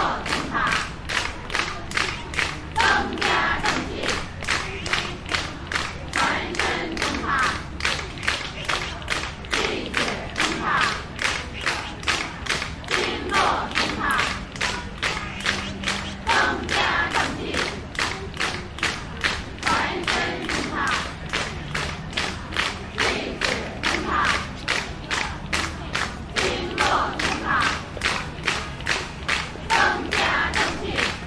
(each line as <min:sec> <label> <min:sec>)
0:00.0 clapping group steady rythm 0:31.2